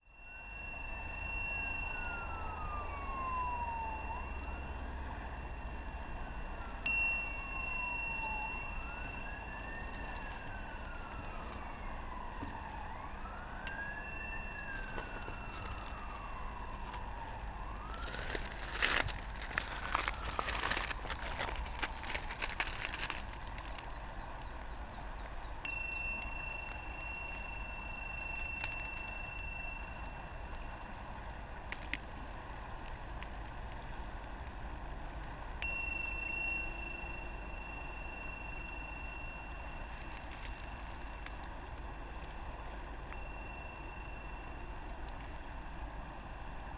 metal bell 0:00.0 - 0:03.6
power line 0:00.0 - 0:46.7
river 0:00.1 - 0:46.7
metal bell 0:06.6 - 0:11.6
metal bell 0:12.4 - 0:20.9
stones 0:14.4 - 0:24.0
metal bell 0:24.9 - 0:31.2
metal bell 0:35.6 - 0:46.4

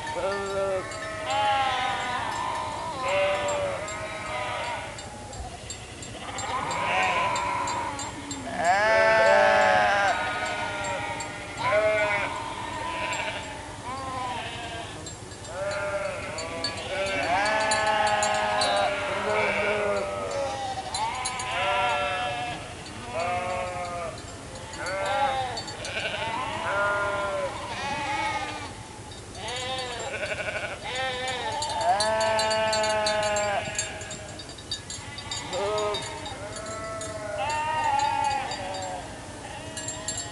Sheeps Lament 0:00.0 - 0:40.3

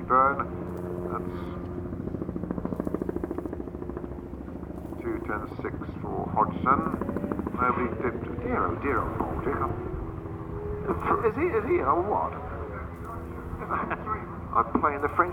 commentary 0:00.0 - 0:01.8
commentary 0:04.3 - 0:15.3

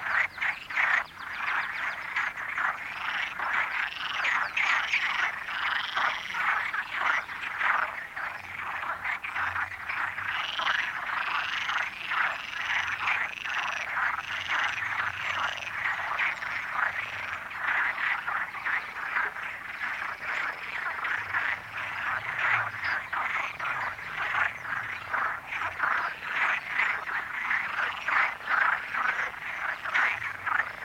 Frogs chatting in the lake 0:00.0 - 0:30.8

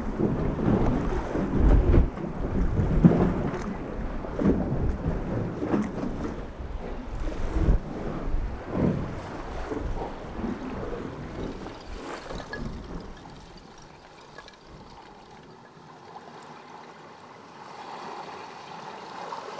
waves making baroque melodies as they crash through 0:15.2 - 0:19.5

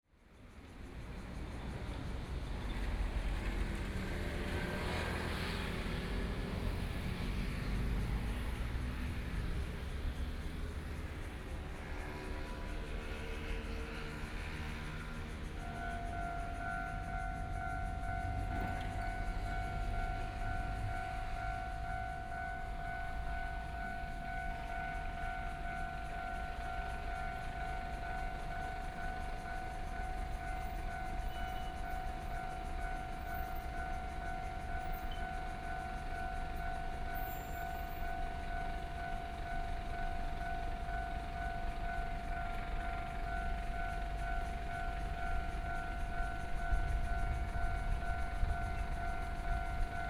Traffic Sound 0:00.3 - 0:50.0
Train traveling through 0:00.3 - 0:50.0

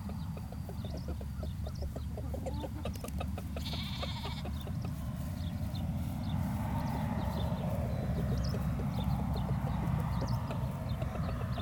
chickens clucking 0:00.0 - 0:11.6
Lamb and sheep calling to each other 0:03.6 - 0:04.6

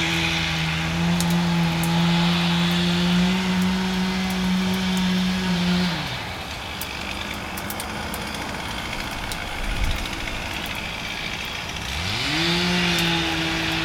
making firewood 0:00.0 - 0:13.8

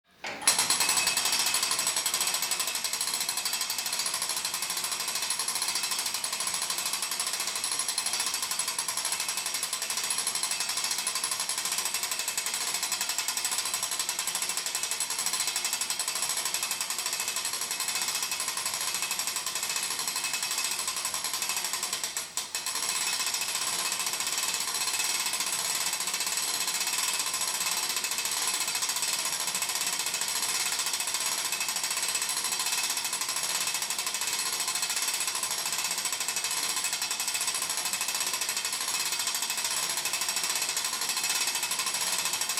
rotating a big wheel that winds up a clock mechanism 0:00.2 - 0:42.5

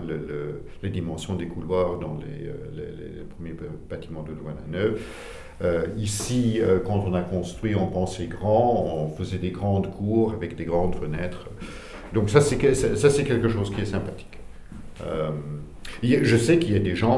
testimony 0:00.0 - 0:17.1

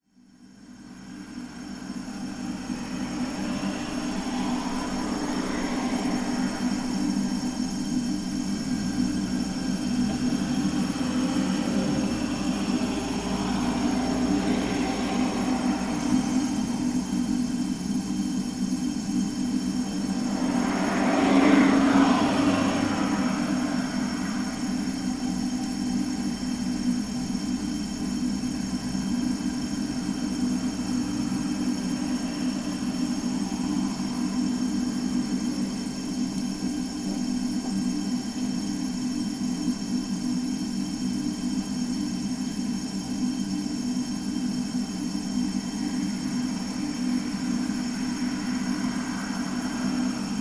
background traffic sounds 0:00.8 - 0:18.2
background traffic sounds 0:19.1 - 0:36.9
background traffic sounds 0:45.7 - 0:50.4

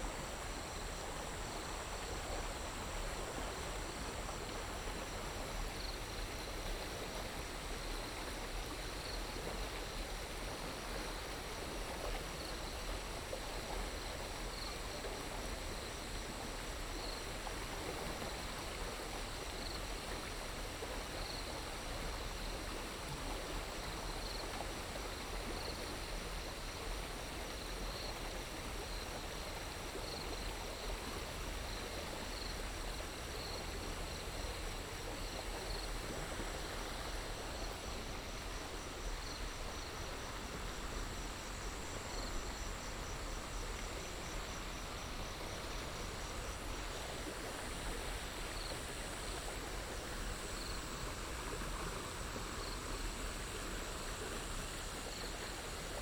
water 0:00.0 - 0:56.0
Insects sounds 0:31.5 - 0:56.0

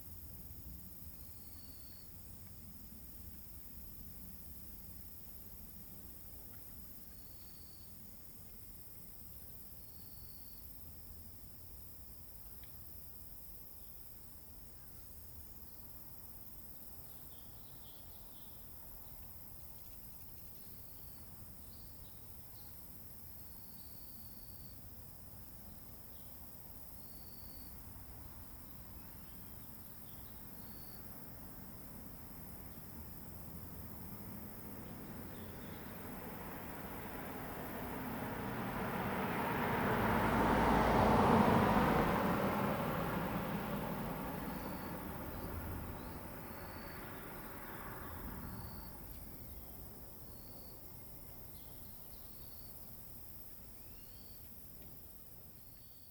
Cicada sound 0:26.2 - 0:55.2
traffic sound 0:27.6 - 0:52.0

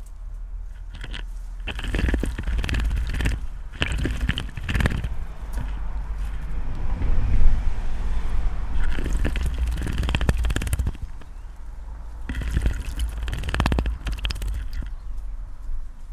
bird bath 0:00.8 - 0:06.4
bird bath 0:08.7 - 0:15.2

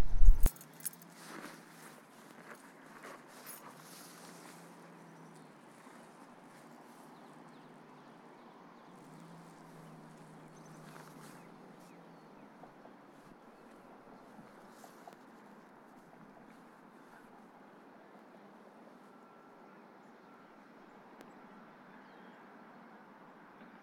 small amount of wind seepage 0:00.0 - 0:04.6
river 0:00.0 - 0:23.8

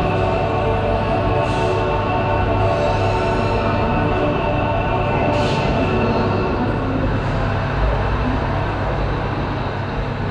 deep ventilaltion hum 0:00.0 - 0:10.3

